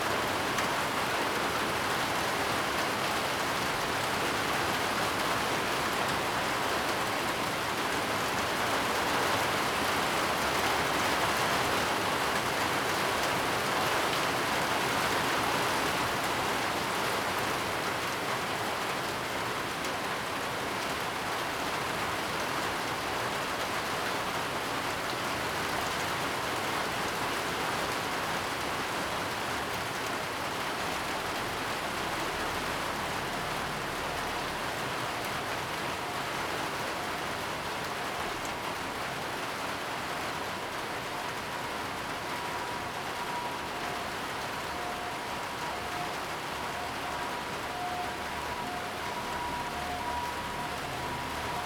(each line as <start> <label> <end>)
0.0 Heavy rain 51.6